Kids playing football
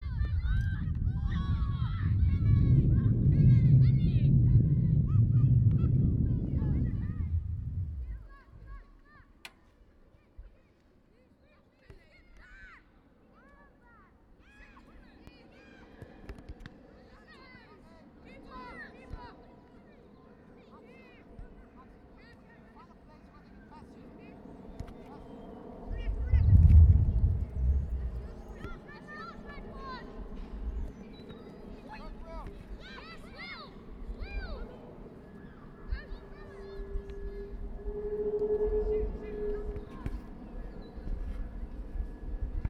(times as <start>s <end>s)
25.9s 37.7s